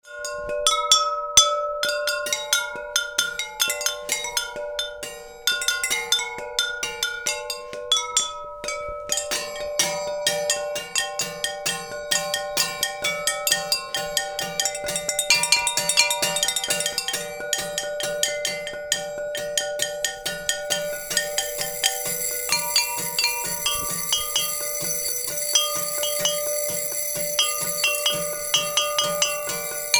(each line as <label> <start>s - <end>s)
drums 8.6s - 29.9s
Batucada con ceramica 20.6s - 29.9s